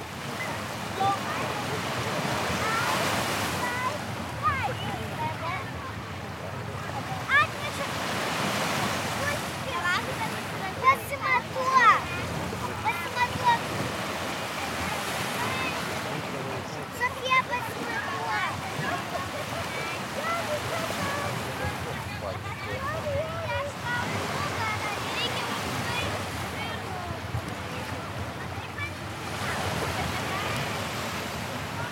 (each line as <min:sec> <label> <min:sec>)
0:00.0 Waves 0:31.9
0:00.0 children playing 0:31.9
0:00.0 wind 0:31.9